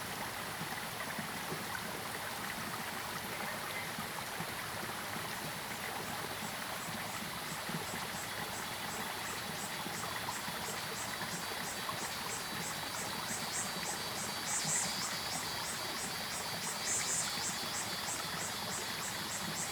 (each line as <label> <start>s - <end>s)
Stream sound 0.0s - 19.7s
Frogs called 7.8s - 19.7s
Cicadas called 8.2s - 19.7s